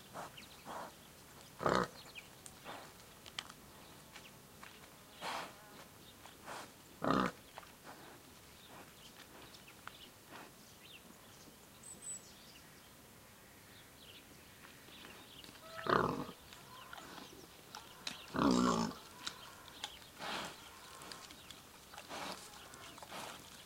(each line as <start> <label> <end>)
0.1 pig rooting around, chewing and talking 4.2
6.3 pig rooting around, chewing and talking 10.6
15.0 pig rooting around, chewing and talking 23.6